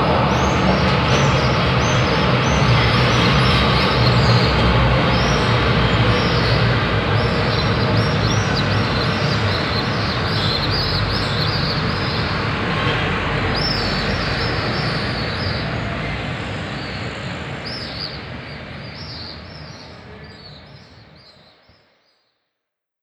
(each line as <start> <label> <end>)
0.0 hundreds of eurasian swifts flying low over the builings while chirping 12.8
0.0 traffic 21.0
0.0 tram sound in the background 21.7